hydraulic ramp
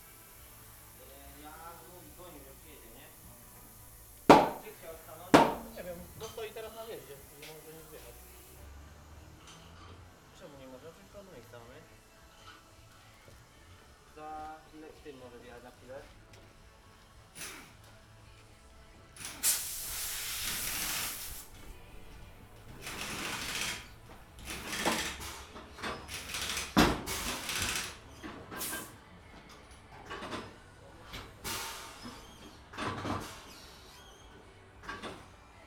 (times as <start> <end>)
1.4 8.5, 19.2 28.9